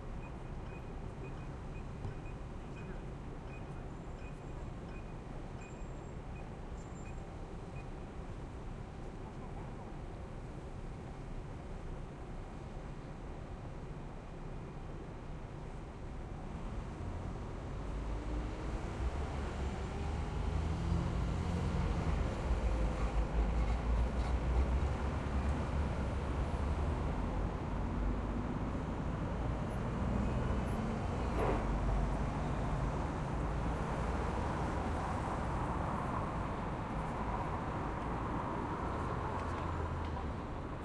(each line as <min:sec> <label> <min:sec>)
0:00.0 city traffic 0:40.8